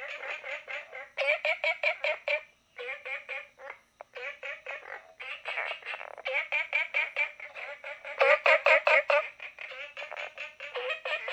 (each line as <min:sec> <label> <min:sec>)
0:00.0 Frogs chirping 0:11.3